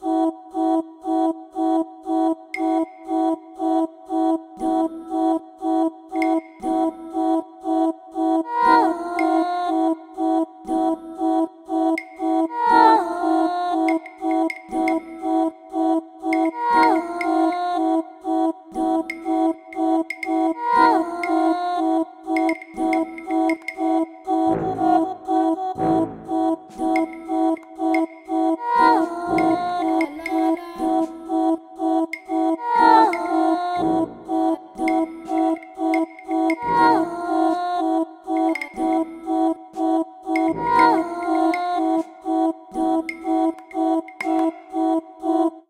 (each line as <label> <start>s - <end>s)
music 0.0s - 45.6s
vocal 0.0s - 45.6s